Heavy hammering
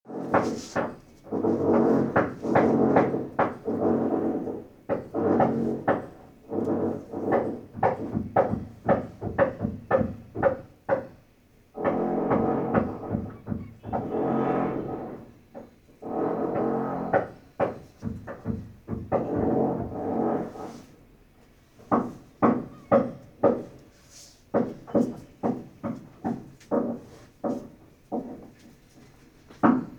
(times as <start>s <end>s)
0.2s 11.2s, 11.8s 20.6s, 21.8s 23.8s